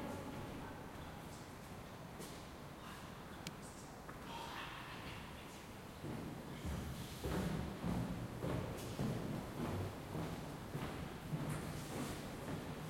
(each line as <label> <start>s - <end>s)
footsteps 6.0s - 12.8s